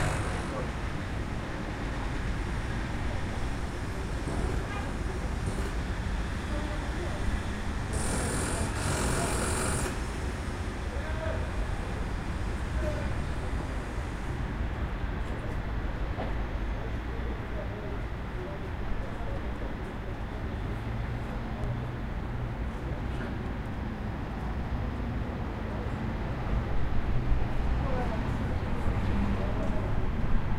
voices 0:00.0 - 0:21.7
noise made by workers renovating the castle 0:00.0 - 0:22.0
cars 0:00.0 - 0:30.5
passing by trams 0:00.0 - 0:30.5

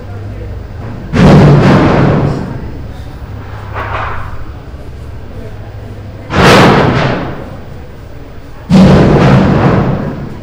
harsh clipped industrial metallic smash 0:00.7 - 0:05.2
harsh clipped industrial metallic smash 0:06.1 - 0:10.4

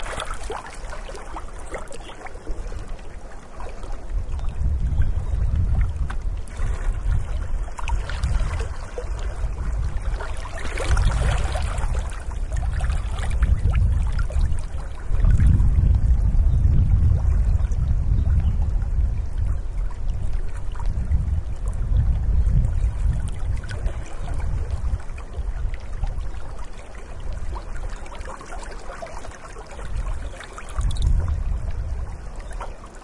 Lake gently lapping the shore 0:00.0 - 0:33.0
occasional wind 0:00.0 - 0:33.0

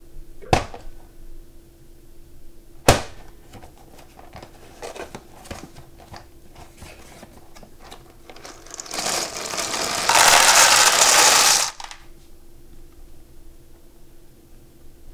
Pouring cereal from a box into a bowl 0:07.8 - 0:12.0

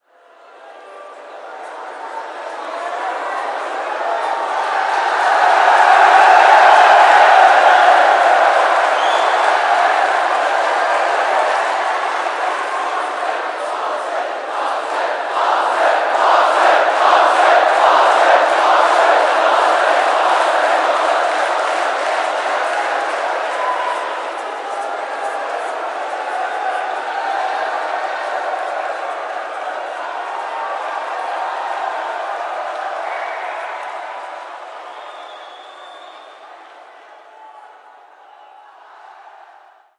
Crowd Cheering 0:00.0 - 0:39.9

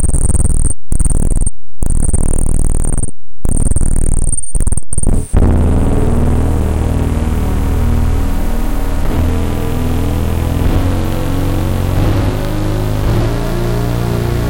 feedback noises 0:00.0 - 0:14.4

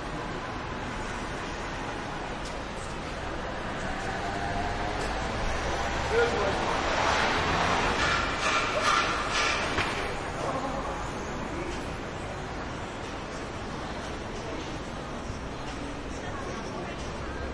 light traffic 0:00.0 - 0:17.5
construction metal banging 0:07.0 - 0:10.2

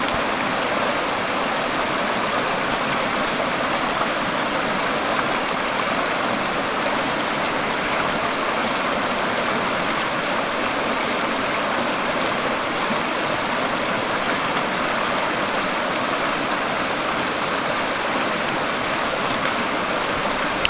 River running it's rocky course 0:00.0 - 0:20.6

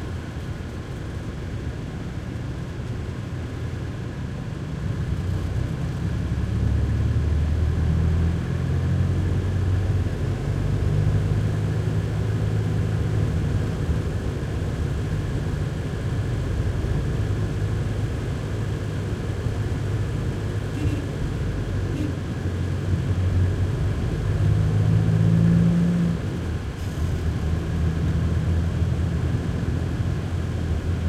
truck minibus int throaty driving real bumpy 0:00.0 - 0:31.0

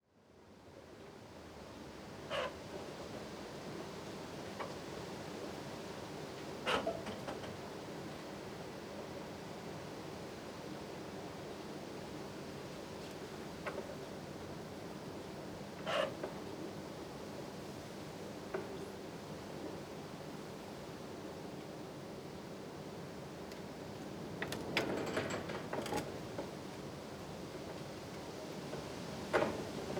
wind 0:00.0 - 0:29.9
train 0:01.0 - 0:29.9
creaking 0:24.4 - 0:26.3

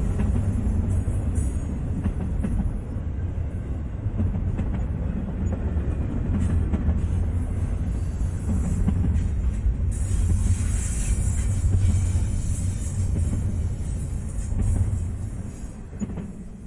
trains passing by 0:00.0 - 0:16.6

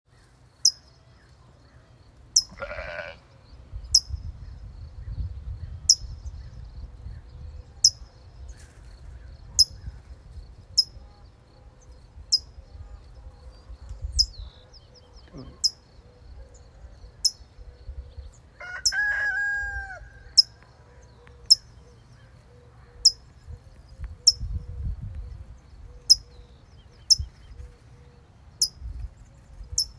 rooster 0:18.6 - 0:20.5

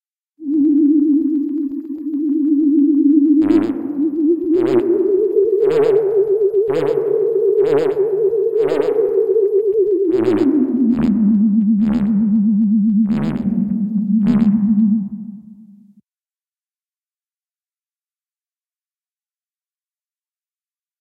flying saucer with probably some malfuntions 0:00.4 - 0:15.9

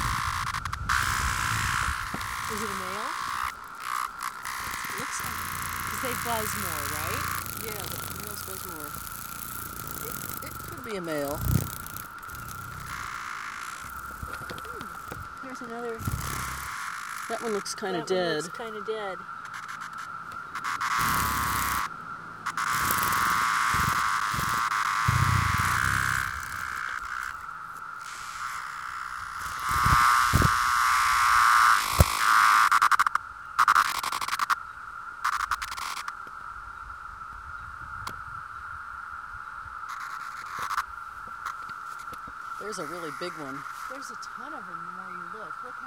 loud buzzing noises are individual cicadas 0:00.0 - 0:45.8
thousands of cicadas singing in the woods 0:00.0 - 0:45.8

